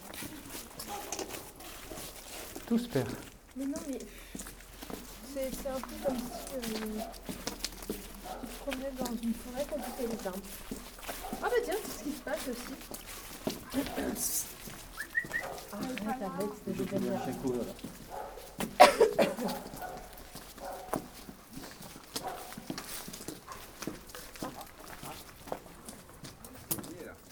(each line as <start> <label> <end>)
0.8 dog is barking 2.2
6.0 dog is barking 8.8
9.6 dog is barking 11.9
13.5 dog is barking 15.8
17.0 dog is barking 25.4